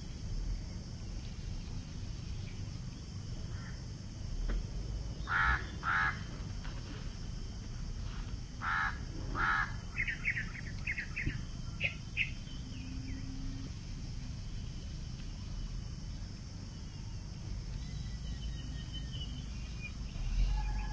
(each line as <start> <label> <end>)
4.9 jungle sounds 20.9
5.3 macaw 6.2
8.6 macaw 10.2